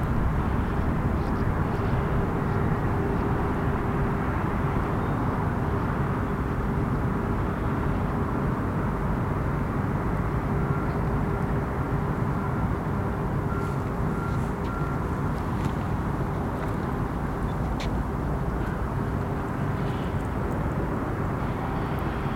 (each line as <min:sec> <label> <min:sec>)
0:00.0 road traffic 0:22.3
0:00.0 small propeller aircraft 0:22.3